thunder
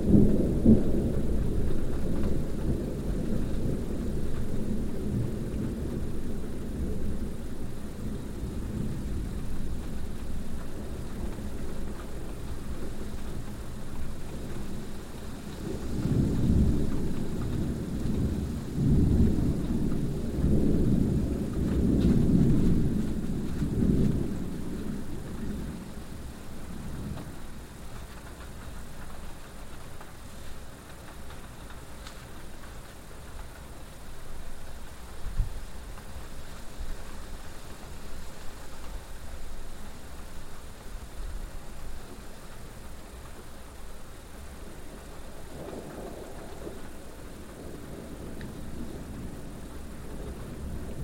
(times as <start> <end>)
0.0 13.5, 14.4 27.5, 44.5 51.0